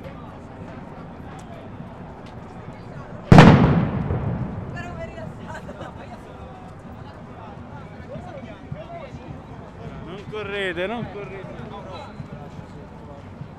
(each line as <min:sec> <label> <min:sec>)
0:03.3 explosions are provoked by demostrants homemade bomb 0:05.2